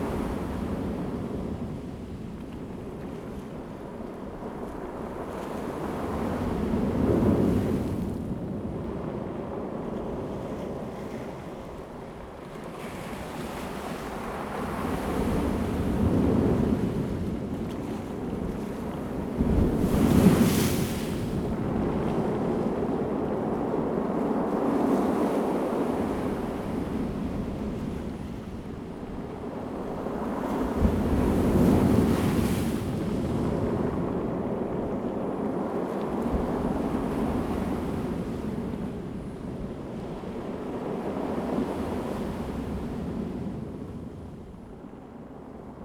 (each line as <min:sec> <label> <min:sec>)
0:00.0 waves 0:45.8